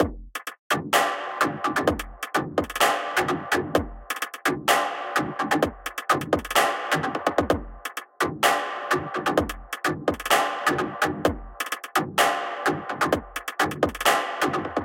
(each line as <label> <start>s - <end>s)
Kick 0.0s - 0.3s
Bass 0.0s - 14.8s
Hi Hat 0.0s - 14.8s
Snare 0.0s - 14.8s
Clap 11.6s - 14.8s